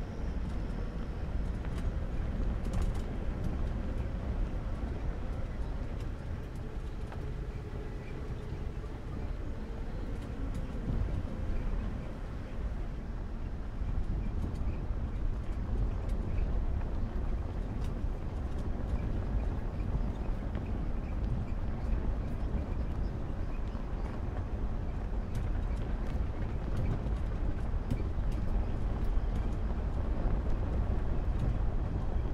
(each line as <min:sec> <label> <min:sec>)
0:00.0 Tires 0:32.3